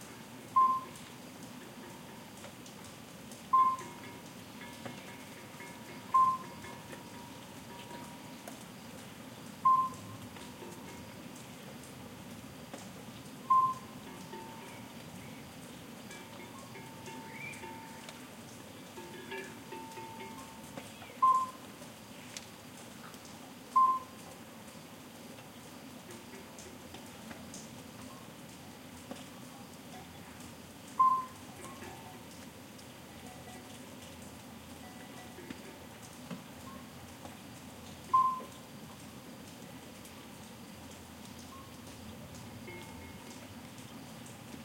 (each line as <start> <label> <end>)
0.0 Soft rain 44.6
0.0 murmur of a small stream 44.6
0.6 distant cowbell noise 1.0
1.6 distant cowbell noise 2.4
3.5 distant cowbell noise 8.5
9.6 distant cowbell noise 11.3
13.5 distant cowbell noise 15.1
16.0 distant cowbell noise 21.6
31.0 distant cowbell noise 32.4
33.2 distant cowbell noise 34.0
34.8 distant cowbell noise 36.0
42.6 distant cowbell noise 43.5